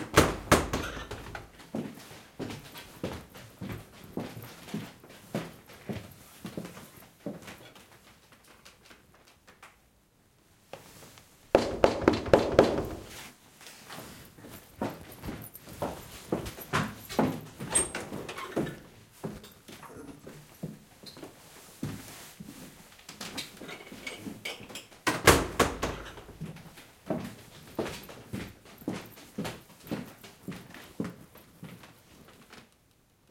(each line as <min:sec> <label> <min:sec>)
0:10.7 Footsteps 0:19.7
0:11.6 knocks on the door 0:13.1